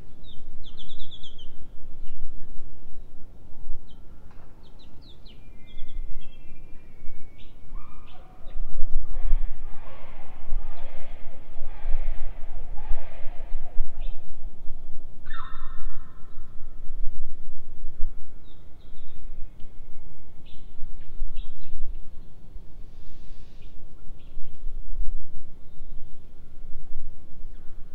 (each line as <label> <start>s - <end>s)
birds 0.0s - 14.5s
distant ocean 7.6s - 18.8s
birds 15.2s - 16.7s
birds 23.0s - 24.7s